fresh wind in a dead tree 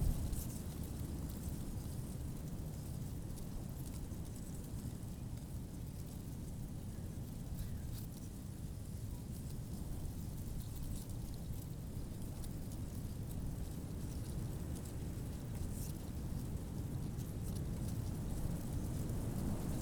0.0 1.2

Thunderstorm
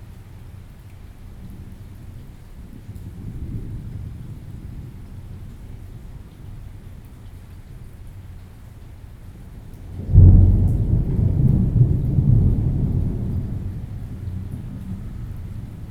1.4 7.4, 9.4 15.9

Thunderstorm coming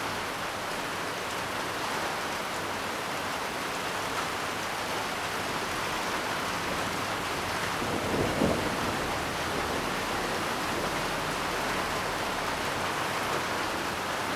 6.9 11.4

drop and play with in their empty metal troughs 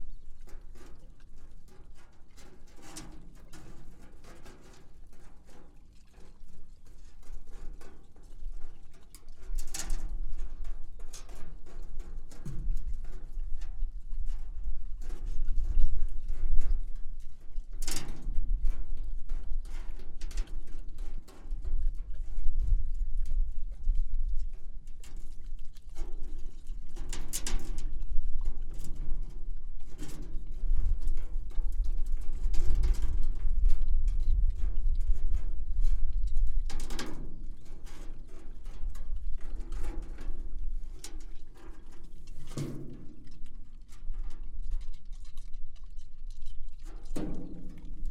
0.1 22.7

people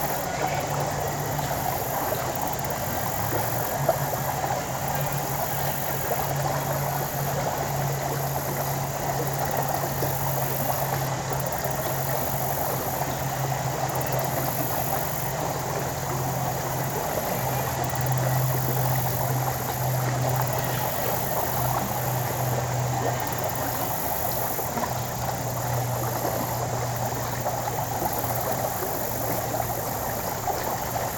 0.0 6.9

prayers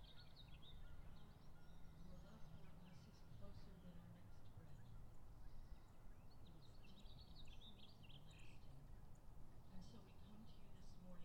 2.0 5.0, 9.7 11.2

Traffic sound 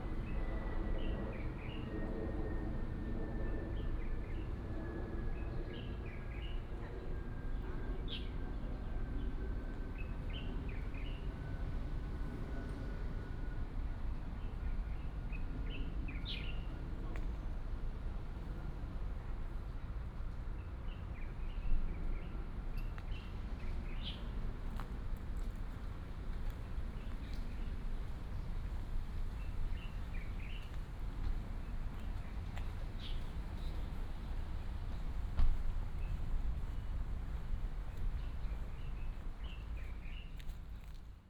23.4 41.2

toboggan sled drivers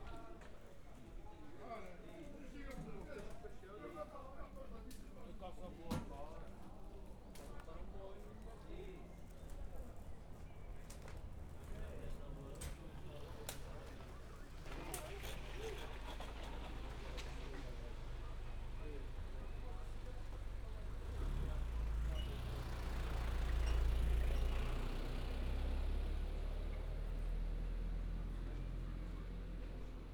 12.5 27.0

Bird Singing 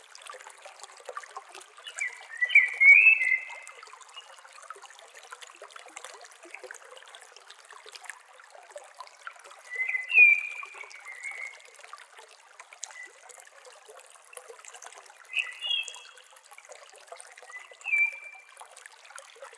1.9 3.6, 9.7 11.6, 15.3 16.0, 17.5 18.4

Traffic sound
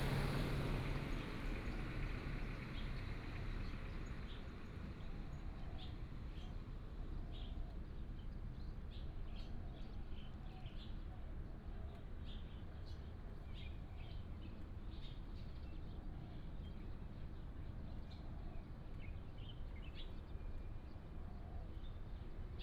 0.0 4.9

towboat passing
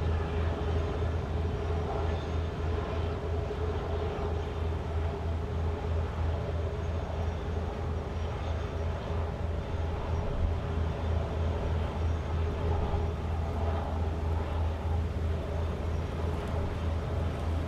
11.2 17.6

